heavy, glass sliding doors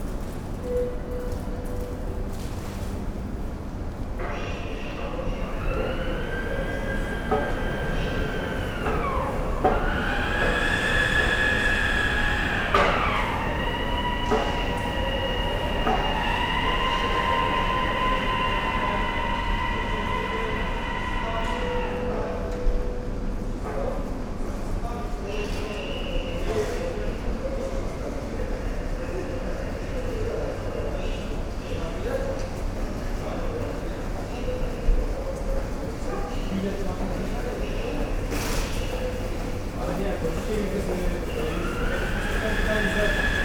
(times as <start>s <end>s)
5.0s 21.4s, 38.3s 43.4s